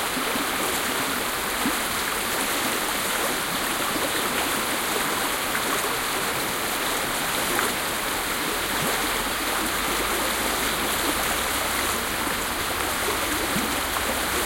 pure mountain stream 0.0 - 14.4

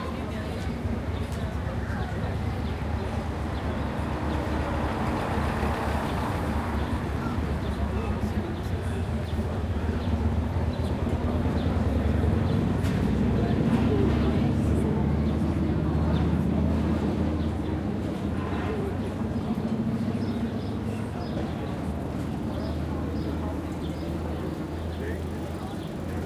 automobile traffic 0.0 - 26.2
pedestrian 0.0 - 26.2
bicycles 16.1 - 26.2

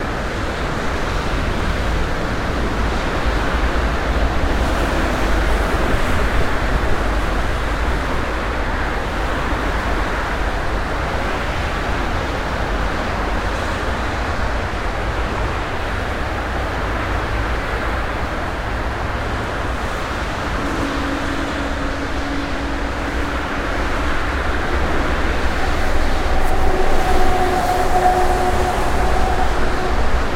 autobahn 17.5 - 30.3

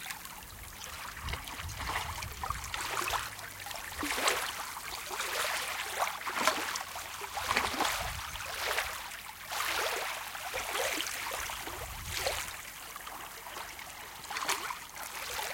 Small waves on a sandy beach 0.0 - 15.5

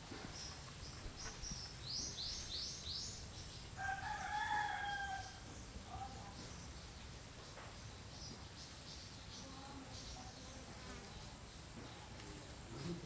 birds 0.0 - 13.0
insects 0.0 - 13.0
roosters 3.7 - 6.6

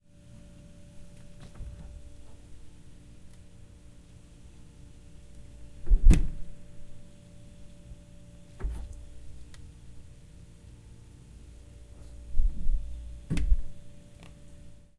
Mini-Fridge Open and Close 1.3 - 2.4
Mini-Fridge Open and Close 8.5 - 9.1
Mini-Fridge Open and Close 12.4 - 13.7

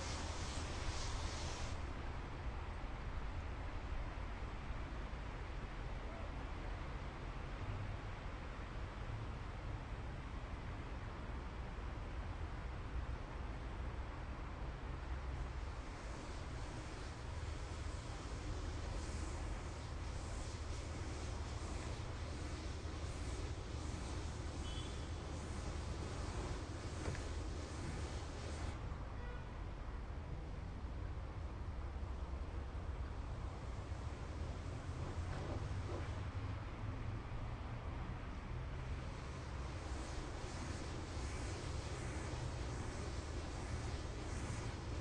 workers are washing bridge 0.0 - 2.3
train 0.0 - 45.0
workers are washing bridge 15.4 - 28.8
street in distance 15.4 - 28.9
workers are washing bridge 33.1 - 36.8
street in distance 33.1 - 37.3
street in distance 38.2 - 45.0
workers are washing bridge 38.3 - 45.0

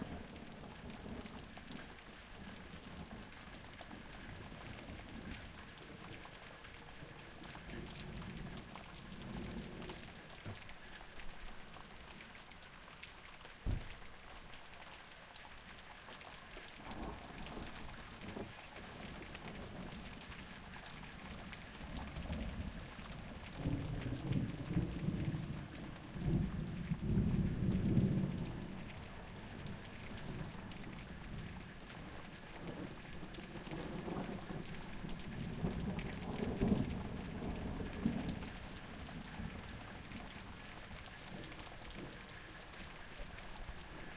Rain 0.0 - 44.1

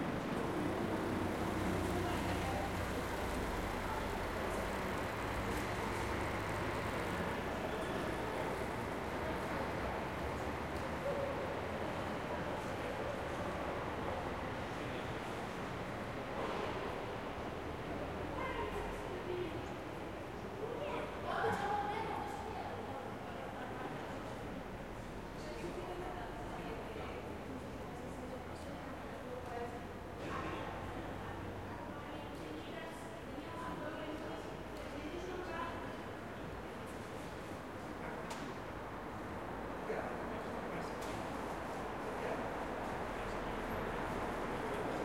bus 0.0 - 45.0
car 0.0 - 19.8
car 38.1 - 45.0

